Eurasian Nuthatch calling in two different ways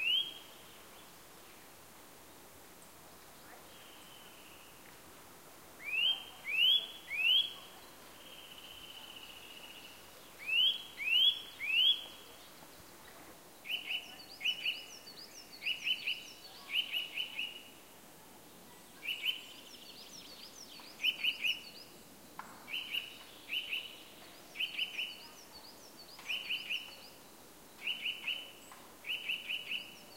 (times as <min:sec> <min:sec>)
0:00.0 0:00.7, 0:05.8 0:12.2, 0:13.6 0:17.7, 0:19.0 0:21.9, 0:22.7 0:30.1